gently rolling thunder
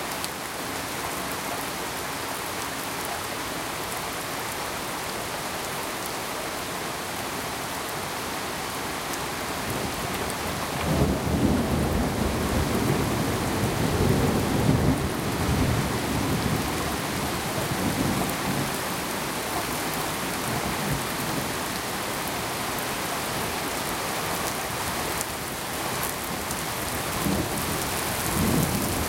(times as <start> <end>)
10.8 18.8, 27.2 29.0